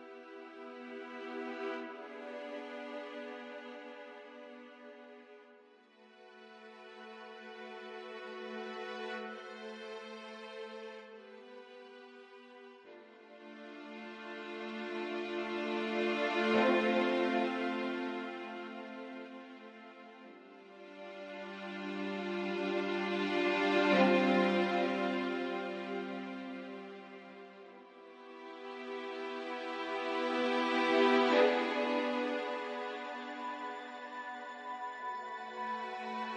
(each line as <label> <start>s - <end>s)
strings 0.0s - 36.3s
music box 32.1s - 36.3s